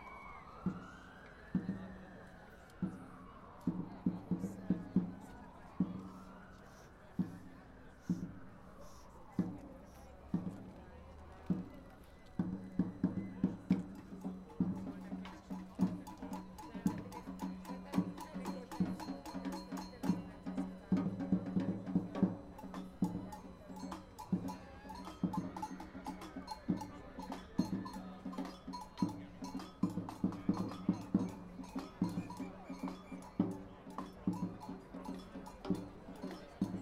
9.3s samba group starts to play 36.8s

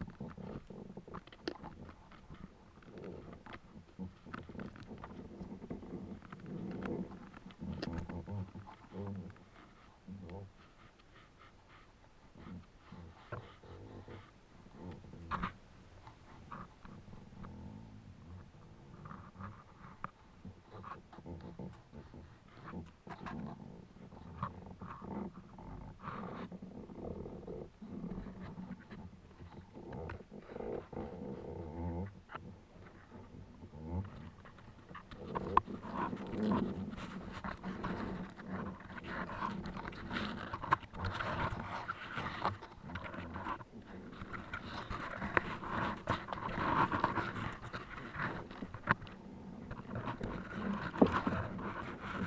0.0s 'playing' fallen trees 52.2s

